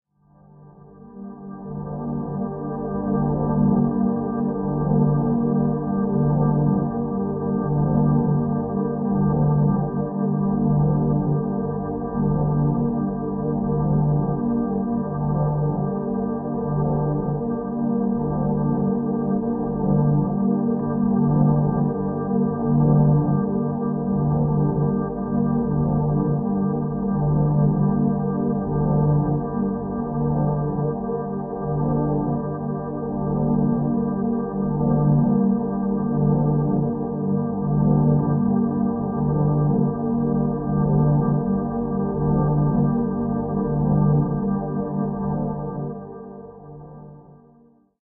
0.5s Warm Ambient Drone 47.2s

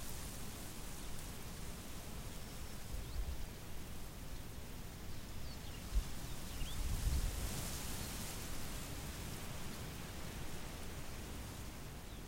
5.8s Wind blowing cereal crop 12.2s

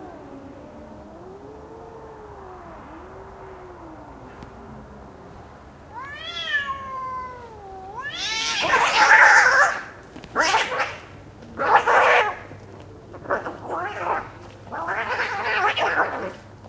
2.3s Cars passing 8.0s
5.9s Two cats arguing, then fighting 12.5s
13.2s Two cats arguing, then fighting 16.4s

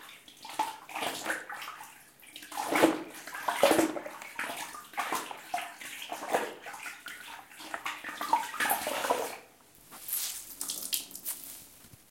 0.0s rinse floorcloth 12.1s

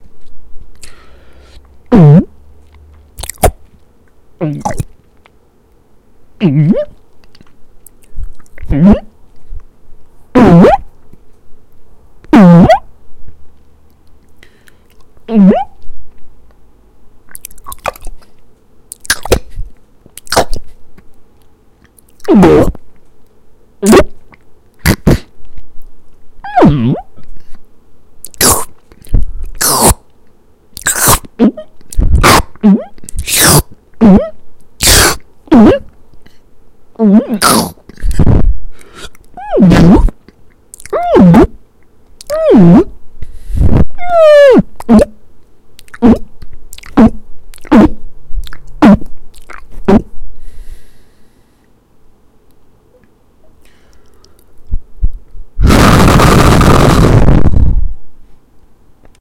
7.2s Chewing 8.6s
17.3s Chewing 20.4s
44.0s Cry 45.1s
45.8s Chewing 47.7s
48.4s Chewing 49.8s

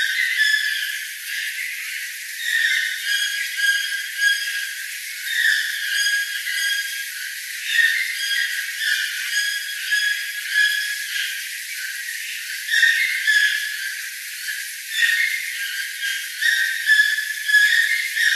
0.0s toucans calling together 14.0s

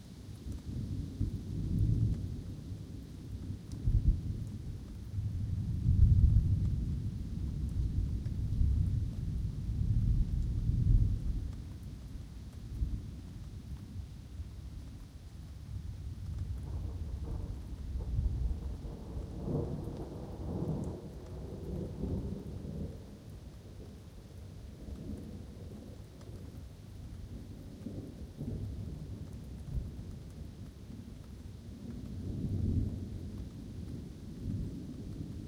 0.0s rain 35.4s
0.0s wind 35.4s
16.2s thunder 23.1s

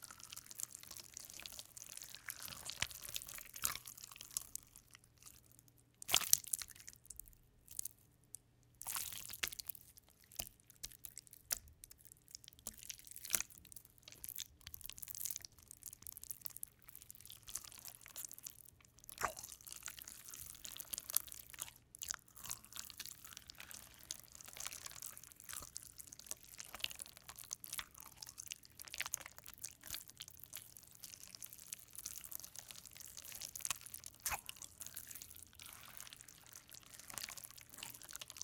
0.0s slippery Jelly slowly kneading squeezing with Hands 38.4s

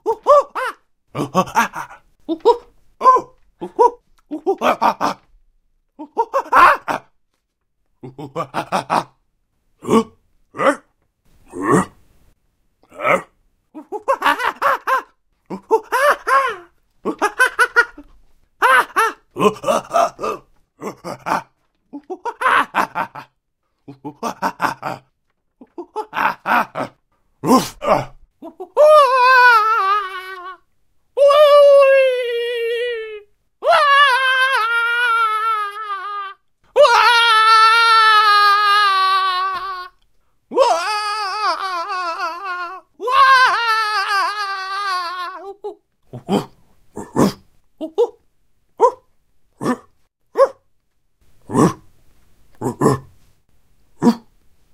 0.0s cartoon/anime style monkey 5.3s
6.0s cartoon/anime style monkey 7.1s
12.8s cartoon/anime style monkey 23.3s
23.9s cartoon/anime style monkey 30.6s
31.2s cartoon/anime style monkey 48.2s
48.8s cartoon/anime style monkey 50.6s
51.4s cartoon/anime style monkey 51.9s
52.6s cartoon/anime style monkey 53.1s
54.0s cartoon/anime style monkey 54.3s

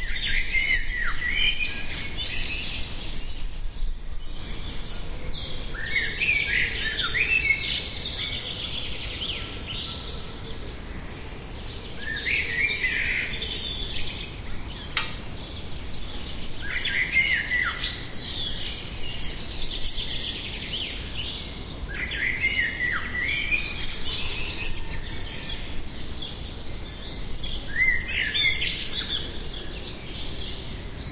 0.0s noisy birds 31.1s

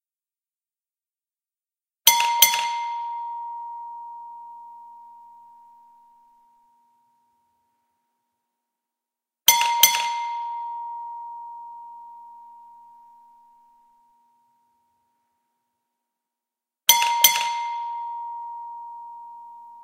2.1s gas station bell 7.1s
9.5s gas station bell 14.4s
16.9s gas station bell 19.8s

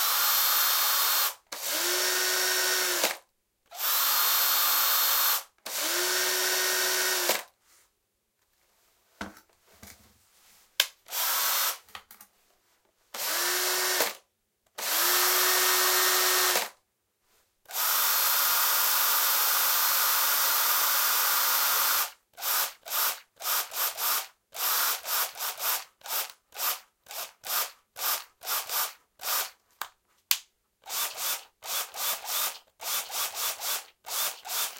0.0s electric screwdriver various speeds 7.5s
11.0s electric screwdriver various speeds 11.8s
13.2s electric screwdriver various speeds 14.2s
14.8s electric screwdriver various speeds 16.8s
17.7s electric screwdriver various speeds 29.6s
30.8s electric screwdriver various speeds 34.7s

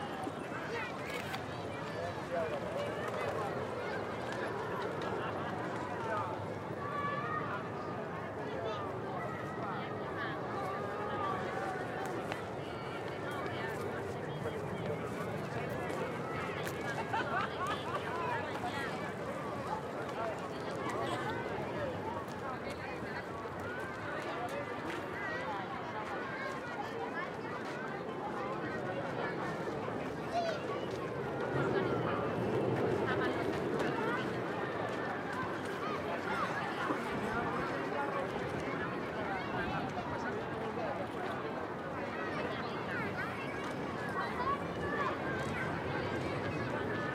23.5s childs 40.3s

